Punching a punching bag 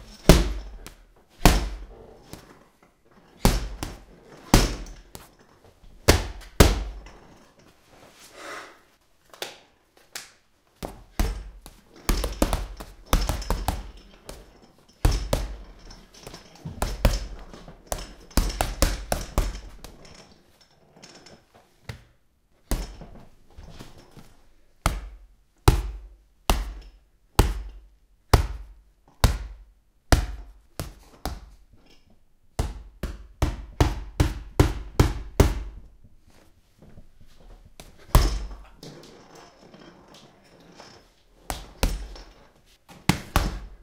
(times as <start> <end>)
0.1 1.9, 3.4 5.0, 6.1 7.0, 10.8 14.4, 15.0 15.7, 28.4 31.5, 32.6 35.8, 43.1 43.8